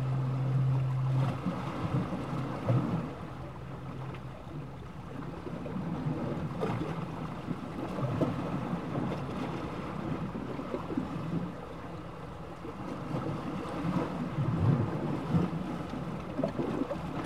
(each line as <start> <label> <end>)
0.0 fog horn sounding at intervals 5.5
0.0 Sea bubbles 17.2
0.0 sound of the sea and waves 17.2